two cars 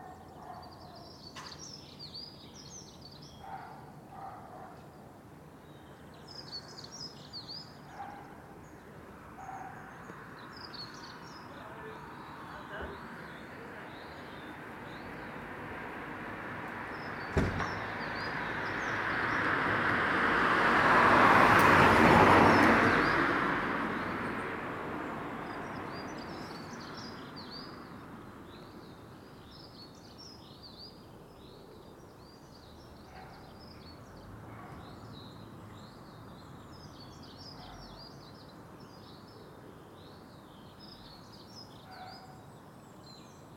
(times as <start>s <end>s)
16.7s 18.2s